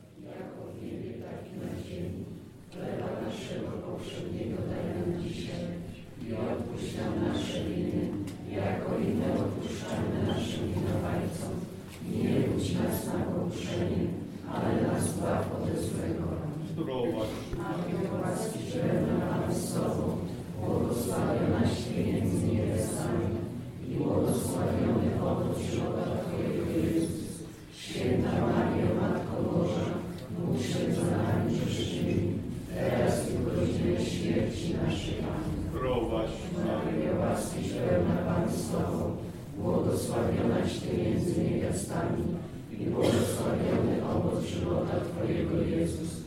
0.0s singing, chanting and praying ritual songs 46.2s

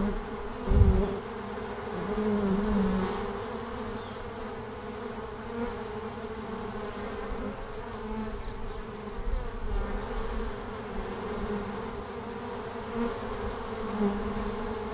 0.0s bees now fly in large quantities 14.9s

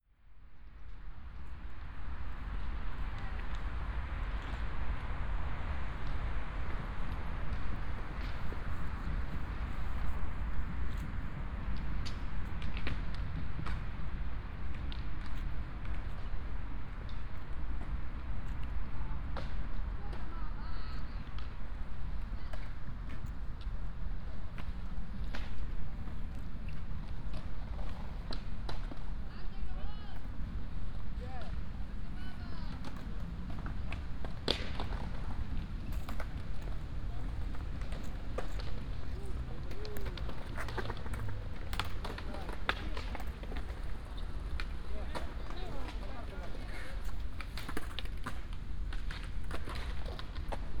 0.5s teenagers riding their skateboards 50.8s

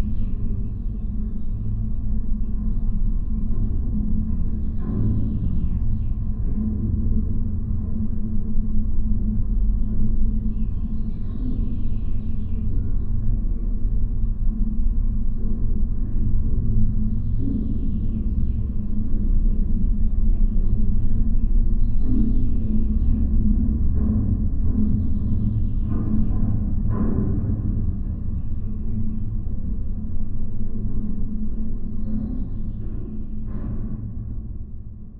0.0s observation tower 35.1s

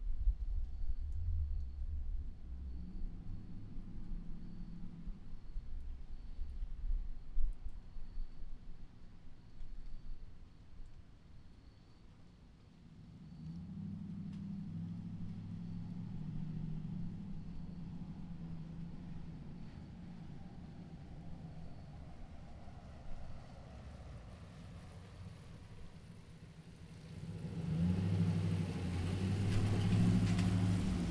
26.8s cars driving by 31.1s

